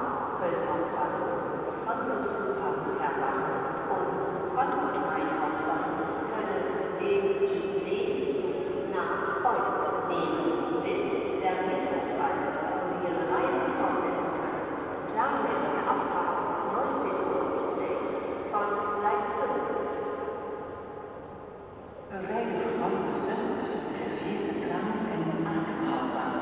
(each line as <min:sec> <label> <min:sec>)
0:00.0 Announcements melting in the main station 0:20.2